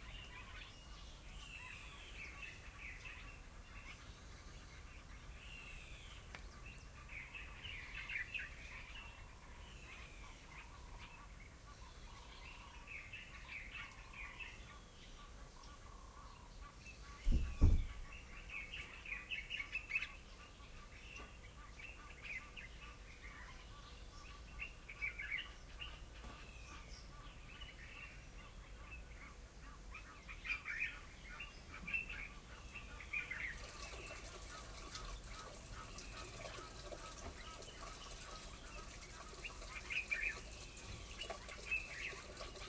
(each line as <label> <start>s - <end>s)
birdsong 0.0s - 42.6s